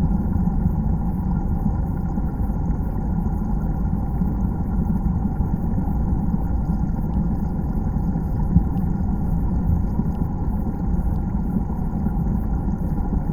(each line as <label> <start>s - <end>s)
small dam underwater 0.0s - 13.3s